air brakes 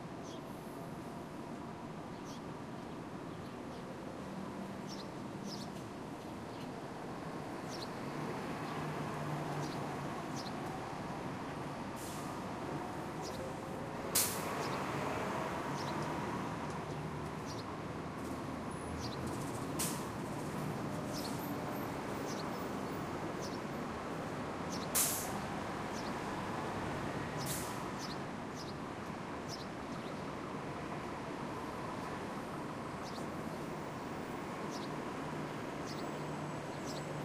12.0s 12.4s, 25.0s 25.4s, 27.4s 27.9s

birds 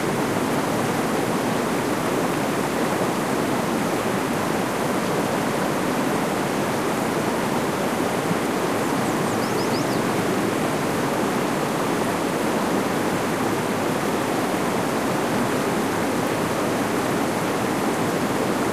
8.9s 10.2s

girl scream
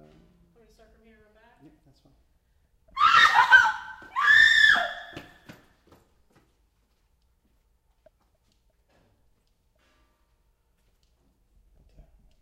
2.9s 5.4s

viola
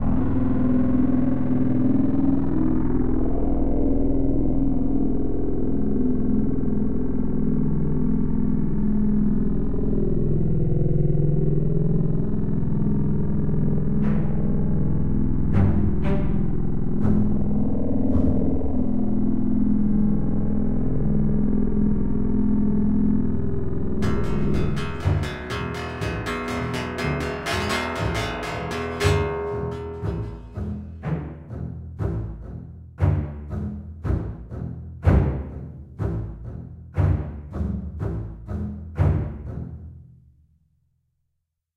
14.0s 18.6s, 24.0s 40.1s

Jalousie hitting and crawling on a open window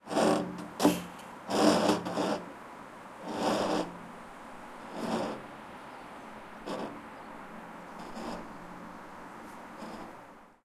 0.1s 2.4s

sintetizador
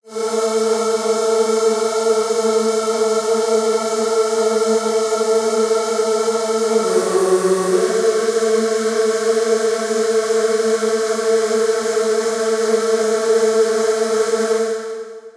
6.6s 9.4s

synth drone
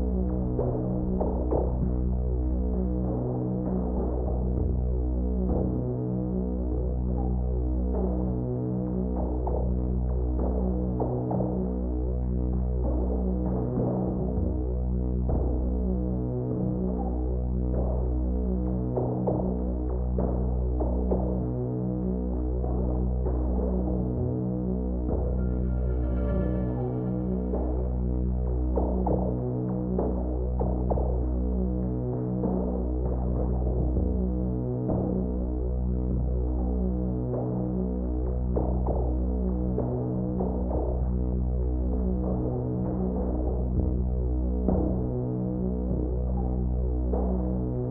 24.9s 29.2s

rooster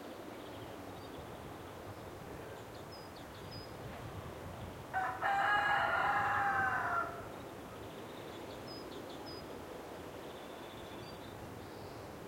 4.9s 7.3s

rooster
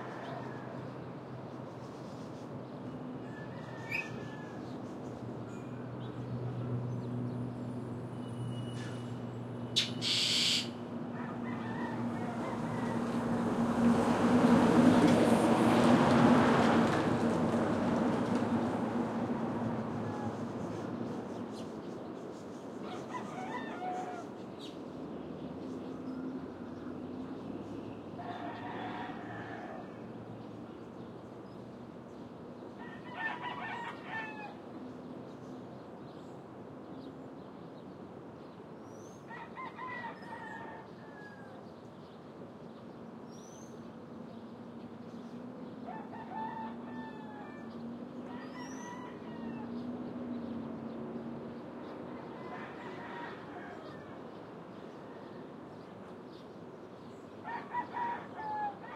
0.0s 1.0s, 3.2s 4.8s, 10.0s 13.4s, 19.8s 20.8s, 22.8s 24.4s, 28.2s 30.1s, 32.8s 34.6s, 39.3s 41.7s, 45.8s 49.9s, 51.8s 54.2s, 57.4s 58.9s

